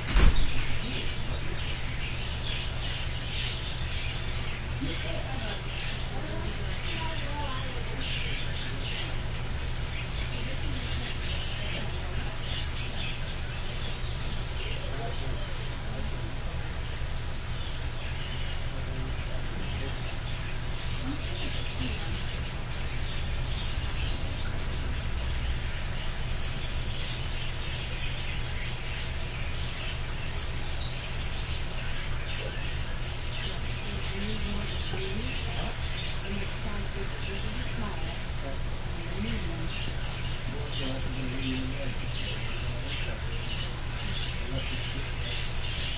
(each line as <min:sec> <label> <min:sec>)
0:00.0 Birds 0:45.9
0:00.0 door opens 0:00.9
0:00.1 couple discuss terrariums 0:45.9